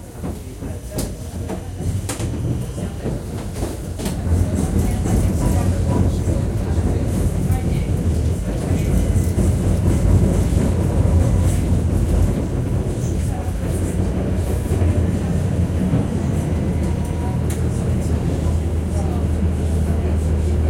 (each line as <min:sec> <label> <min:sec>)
0:00.0 tram ride 0:20.6